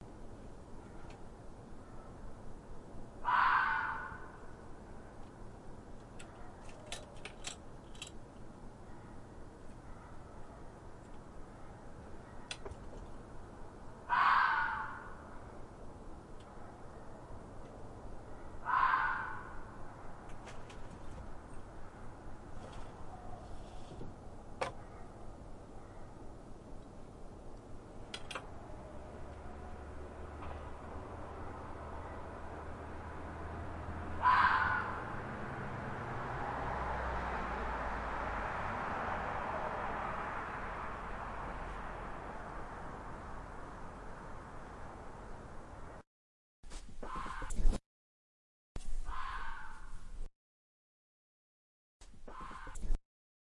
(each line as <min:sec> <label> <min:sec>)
0:03.2 Fox scream 0:04.4
0:14.1 Fox scream 0:15.2
0:18.6 Fox scream 0:19.7
0:34.2 Fox scream 0:35.2
0:49.1 Fox scream 0:49.9
0:52.3 Fox scream 0:52.8